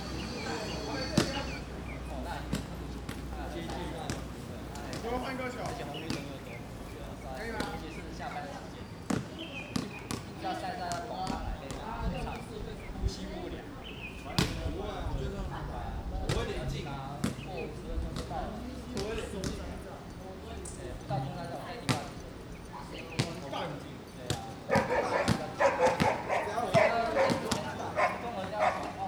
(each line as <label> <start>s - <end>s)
Traffic Sound 0.0s - 10.9s
Birds singing 0.0s - 29.0s
Traffic Sound 24.4s - 29.0s